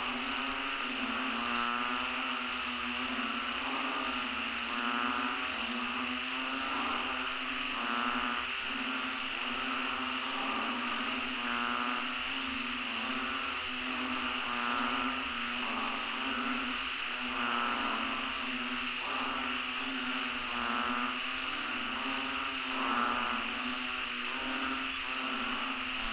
0.0s crickets/cicadas 26.1s
0.0s frogs 26.1s

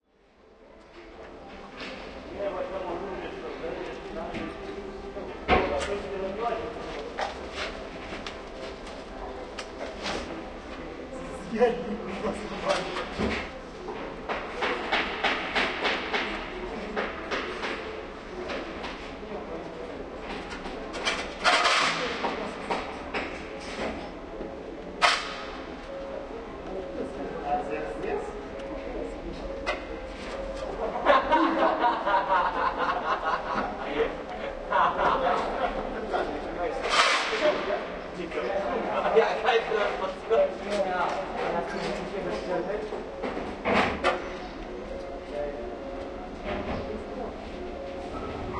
0.2s Sounds produced by workers 48.5s

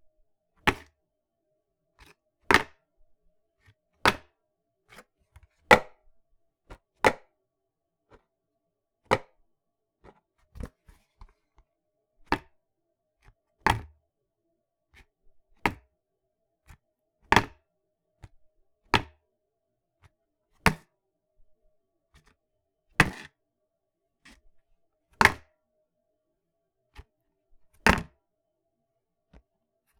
0.6s Picking up and dropping a small plastic container 0.9s
10.0s Picking up and dropping a small plastic container 11.4s
27.8s Picking up and dropping a small plastic container 28.2s

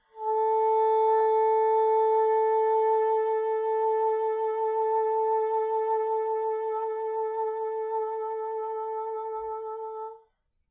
0.0s Bassoon 10.2s

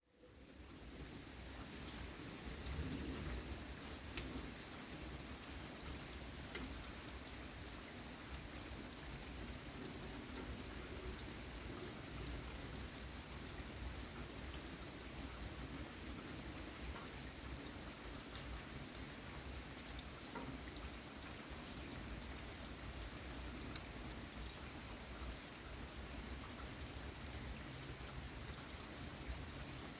0.0s Light rain 29.9s

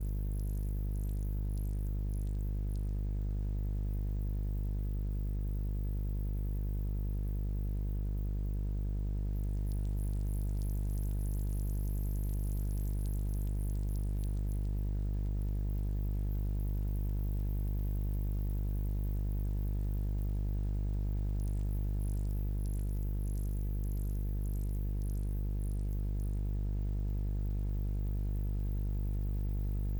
9.0s hum 29.9s

